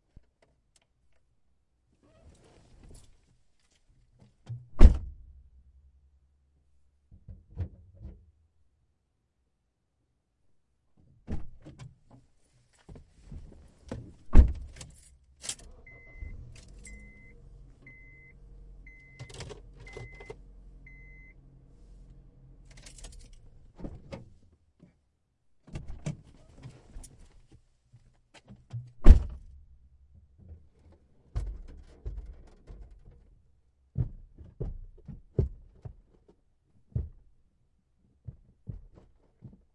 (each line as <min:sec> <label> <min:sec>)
0:12.8 trunk 0:25.0
0:13.9 car doors 0:21.2
0:15.3 car starts 0:23.5